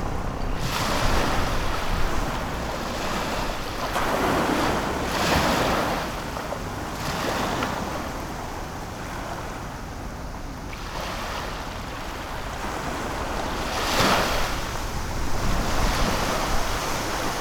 0.0s Tide 17.4s

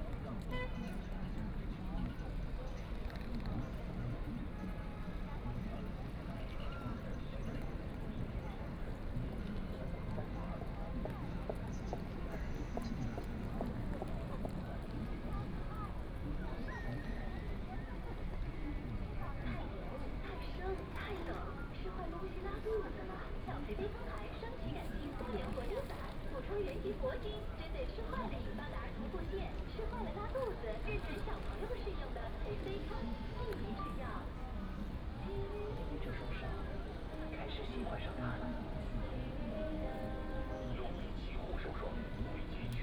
0.0s crowd 42.8s
19.0s TV station outside wall advertising voice 42.8s

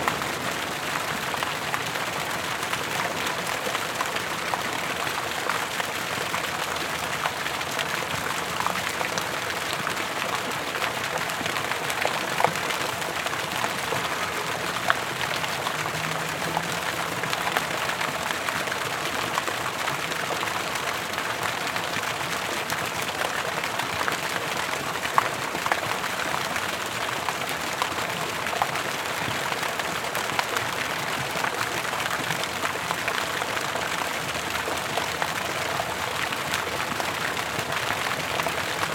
0.0s fountain 38.9s

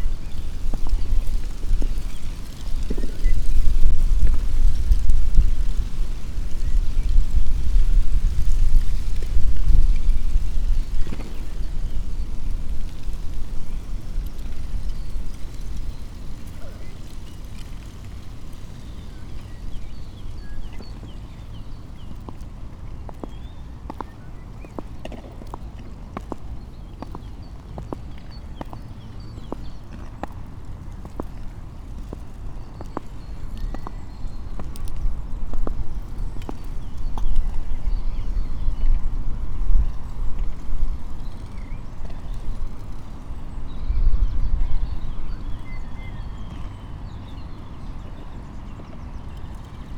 0.0s dry leaf 43.5s
0.0s birds 49.9s
0.0s winds 49.9s
22.2s two boys skating 37.7s

